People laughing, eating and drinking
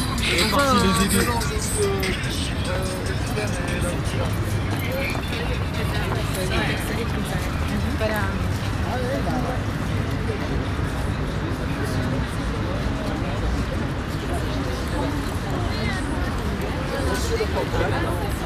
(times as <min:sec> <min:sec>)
0:00.0 0:04.0, 0:17.0 0:18.4